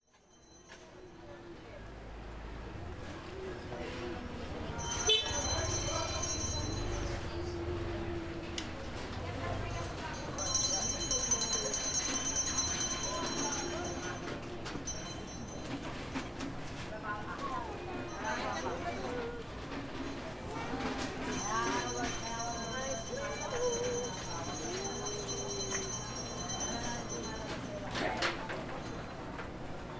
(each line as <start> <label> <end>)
0.3 people chatter 29.9
0.6 Jeepneys 29.9
4.5 bargaining voices 15.5
17.6 bargaining voices 29.0